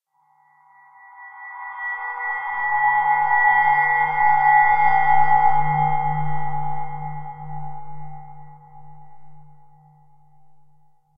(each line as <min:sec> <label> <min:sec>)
0:00.9 drone 0:10.8